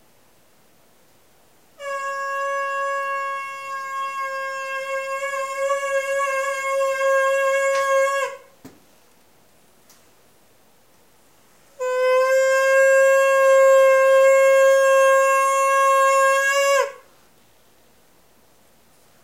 1.8s reed trumpet 8.5s
11.7s reed trumpet 17.1s

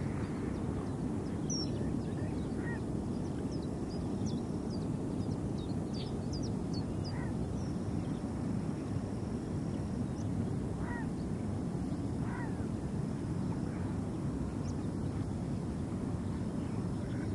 0.0s rumble from water flowing from a huge pump 17.3s
6.0s bird calls 7.7s

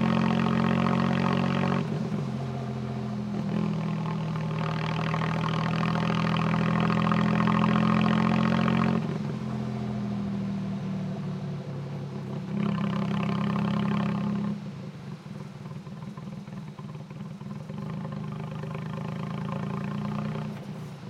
0.0s tuk tuk motorcycle taxi on board engine driving 21.0s

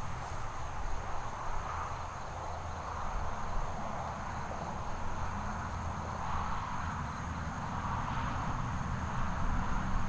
3.8s passing traffic 10.0s

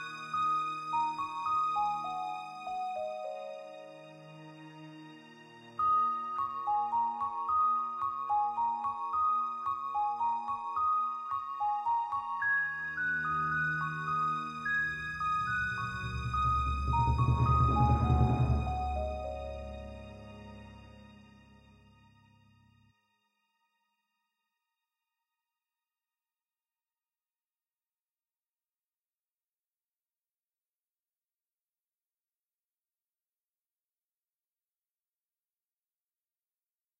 5.6s BELLS 21.5s

